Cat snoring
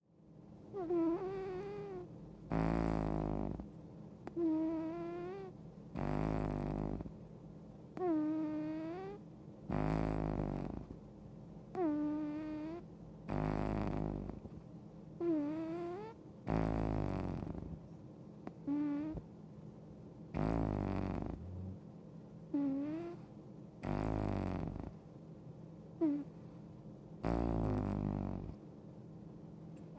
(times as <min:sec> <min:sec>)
0:00.7 0:07.2, 0:08.0 0:11.0, 0:11.7 0:14.6, 0:15.2 0:17.8, 0:18.4 0:19.2, 0:20.3 0:21.8, 0:22.5 0:25.0, 0:26.0 0:26.4, 0:27.2 0:28.6